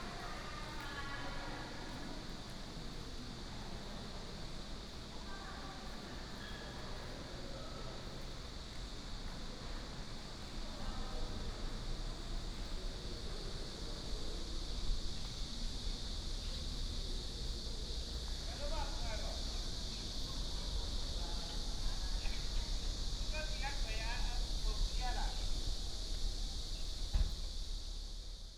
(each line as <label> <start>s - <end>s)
Cicadas 0.0s - 28.5s